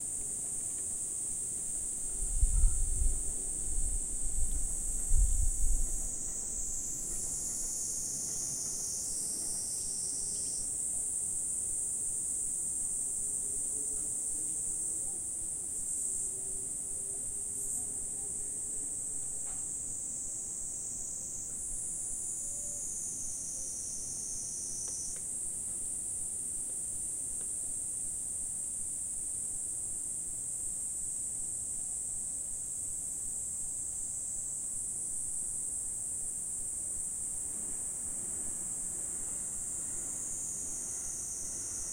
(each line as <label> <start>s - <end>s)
Cricket 0.0s - 41.9s
Japanese Cicadas 0.0s - 41.9s